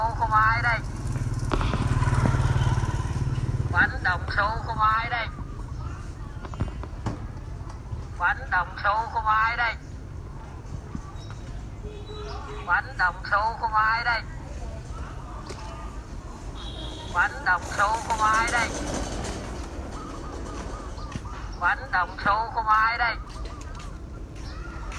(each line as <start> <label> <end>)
0.0 Man sell food 24.9